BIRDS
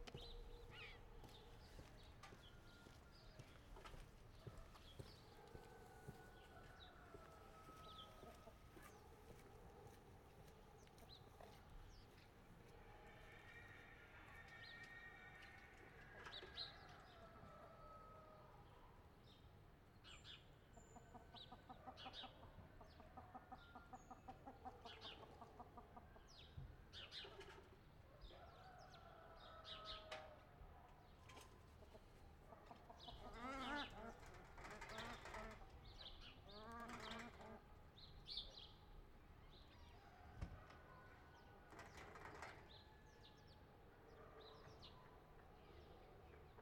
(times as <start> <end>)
31.1 38.8